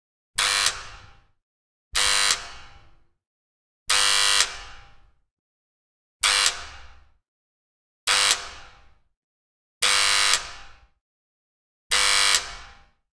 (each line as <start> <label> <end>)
0.4 door buzzer 3.0
3.9 door buzzer 5.2
6.2 door buzzer 7.2
8.1 door buzzer 9.0
9.8 door buzzer 11.0
11.9 door buzzer 13.0